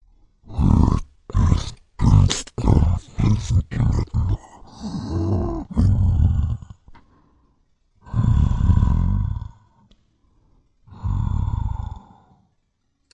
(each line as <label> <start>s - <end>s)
Creature 0.4s - 7.0s
Creature 8.0s - 9.7s
Creature 10.9s - 12.4s